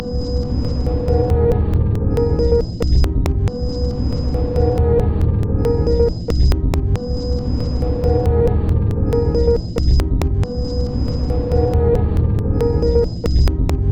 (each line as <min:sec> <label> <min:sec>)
0:02.1 Drum Loop 0:13.9